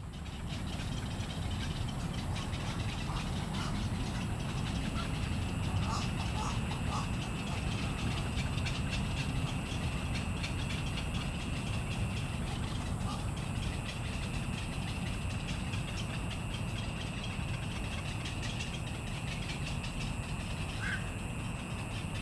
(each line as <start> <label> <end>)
0.0 Bird sounds 22.2